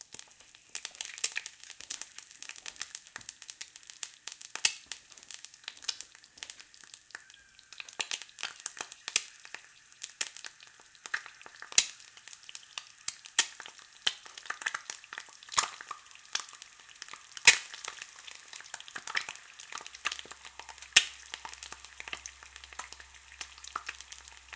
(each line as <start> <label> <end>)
0.0 Cracking And Frying An Egg 24.5